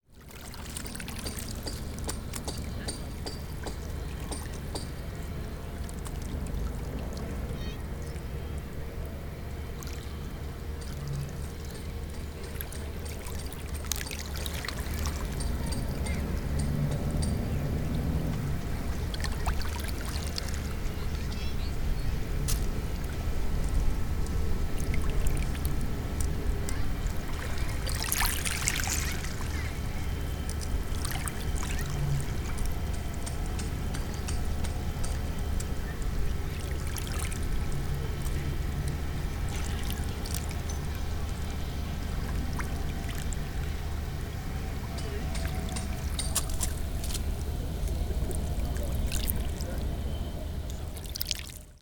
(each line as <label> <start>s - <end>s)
Small waves during low tide 0.0s - 51.8s